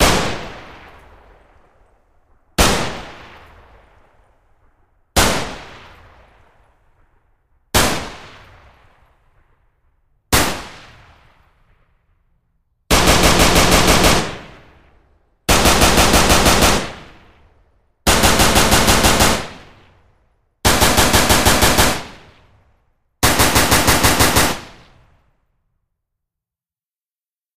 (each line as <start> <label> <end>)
12.9 machine gun fire 14.8
15.5 machine gun fire 17.2
18.1 machine gun fire 19.7
20.6 machine gun fire 22.3
23.2 machine gun fire 24.9